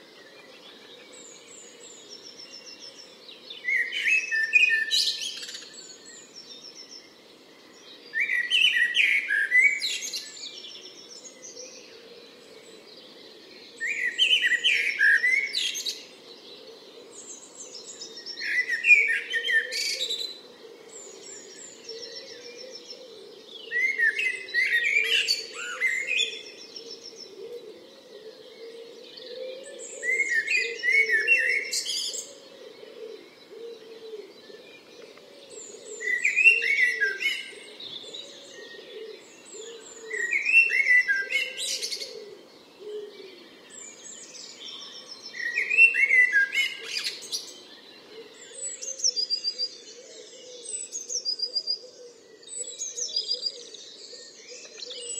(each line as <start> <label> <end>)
0.0 Blackbird 55.1
0.0 background noise 55.1
0.0 song thrush 55.1
18.0 pheasant 44.0
26.8 wood pigeon 43.5